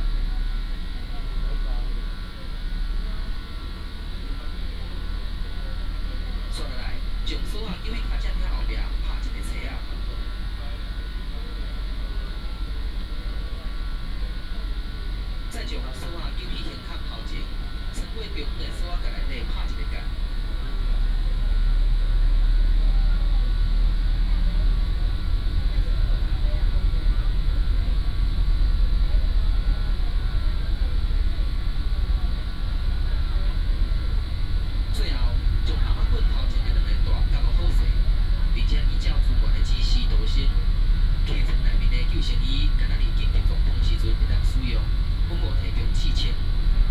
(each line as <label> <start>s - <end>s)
Information broadcast by boat 0.0s - 46.9s